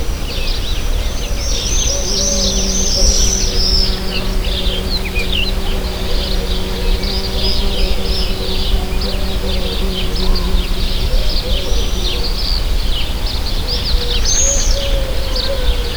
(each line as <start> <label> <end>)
0.0 birds 15.9
0.0 bugs 15.9